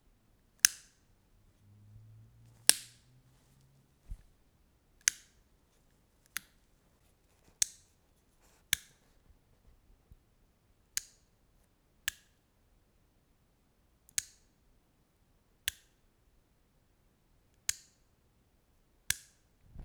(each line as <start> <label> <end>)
2.6 Lamp Switch 3.0